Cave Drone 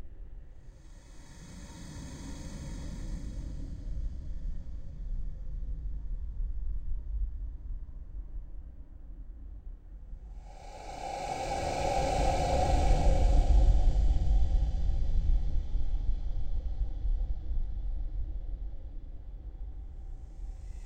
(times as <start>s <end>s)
10.3s 15.6s